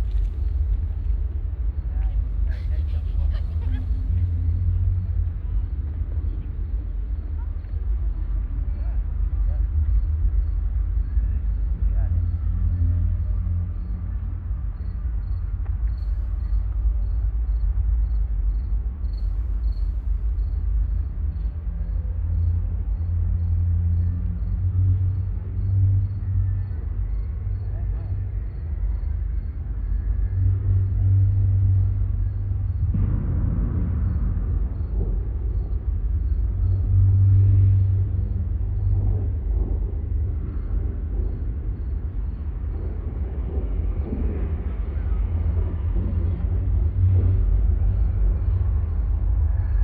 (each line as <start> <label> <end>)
0.0 roof of the monument rattling and resonating 49.8